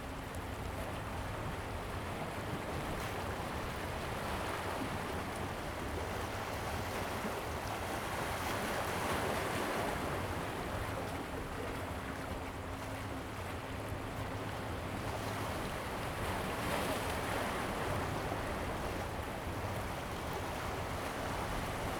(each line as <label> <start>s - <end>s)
waves 0.0s - 21.9s